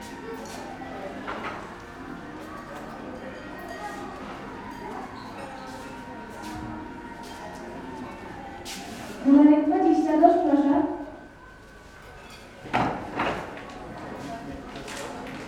guests having late dinner/early supper 0:00.0 - 0:15.4

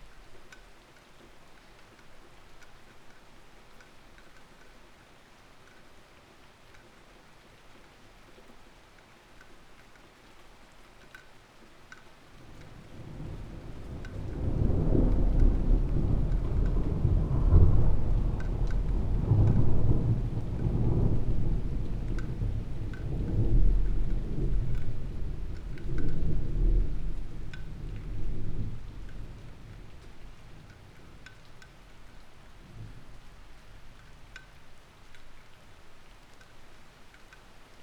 thunderstorm 0:12.4 - 0:34.1

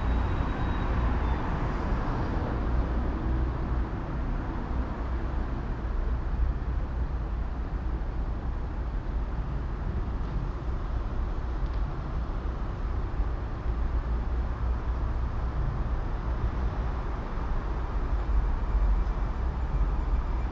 traffic 0:00.0 - 0:20.5

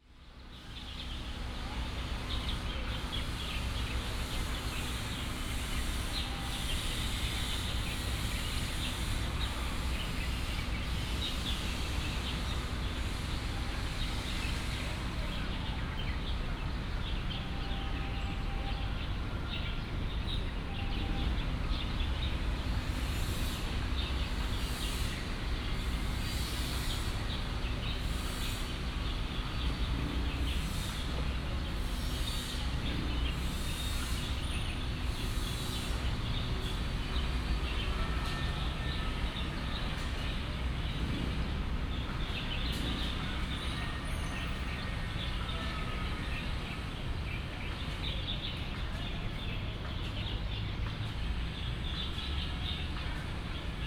Traffic sound 0:00.0 - 0:53.8
Many sparrows 0:00.1 - 0:53.8

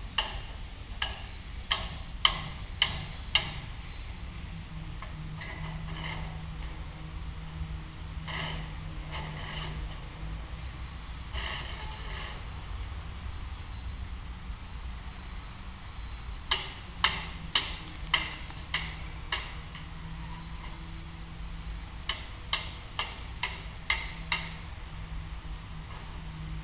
building/construction works 0:00.1 - 0:14.2
building/construction works 0:14.8 - 0:24.8

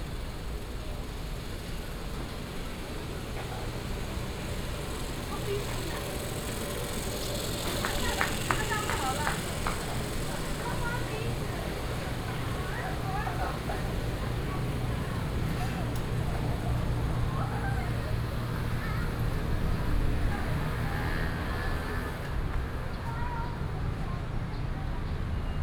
Air conditioning 0:00.0 - 0:25.6
Traffic Sound 0:00.0 - 0:25.6
Walking in a small alley 0:00.0 - 0:25.6

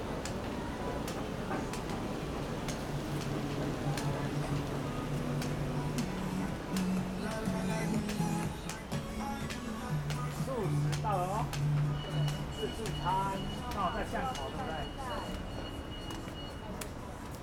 visually impaired person is practicing walking 0:01.0 - 0:14.6

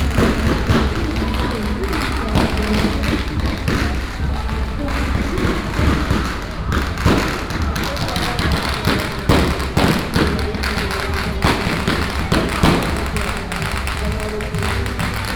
Electronic firecrackers 0:00.0 - 0:15.3
Walking on the road 0:00.0 - 0:15.3

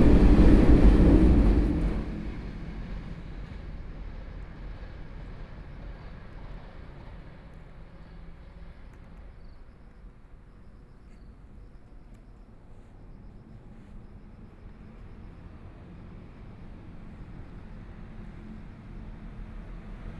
Trains traveling through 0:00.0 - 0:11.0
Traffic Sound 0:00.0 - 0:20.1

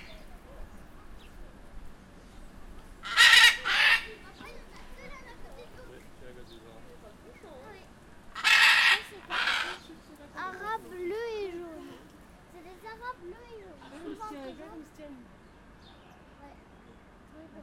Blue-and-yellow macaws 0:03.0 - 0:04.3
Blue-and-yellow macaws 0:08.3 - 0:10.0

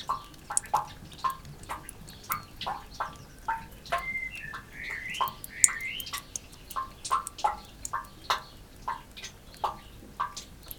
droplets 0:00.0 - 0:08.1
blackbird 0:02.2 - 0:08.5
wren 0:03.9 - 0:06.5

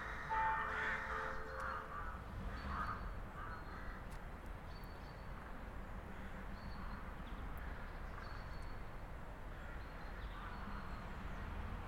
Crows 0:00.0 - 0:04.0
Bus and car passing by 0:10.2 - 0:11.8

